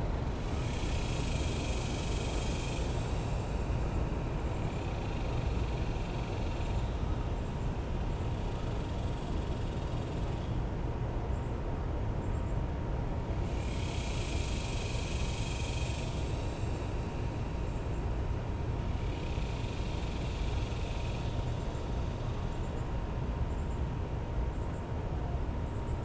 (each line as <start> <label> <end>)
0.0 urban drone 26.0
0.0 urban waterway 26.0